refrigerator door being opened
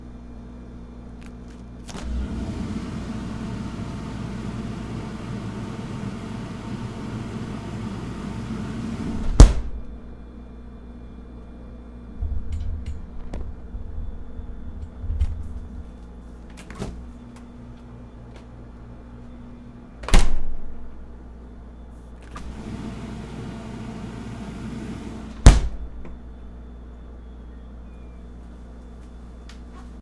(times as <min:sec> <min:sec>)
0:09.1 0:09.8, 0:16.5 0:17.1, 0:20.0 0:20.6, 0:25.2 0:26.2